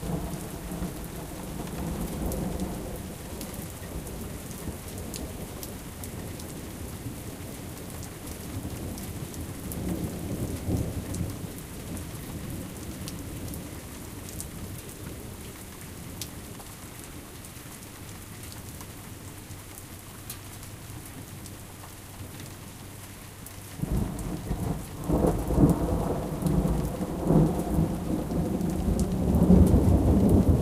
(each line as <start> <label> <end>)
0.0 soft rain 30.6
0.0 wind 30.6
23.8 Long Rumbling Thunder 30.6